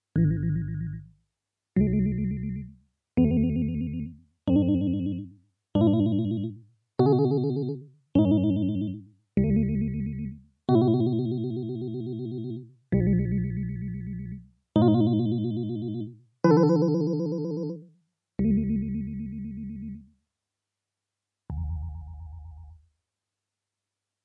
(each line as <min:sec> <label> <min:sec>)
0:00.2 Wobble gobble sounds coming from a synthesizer 0:01.1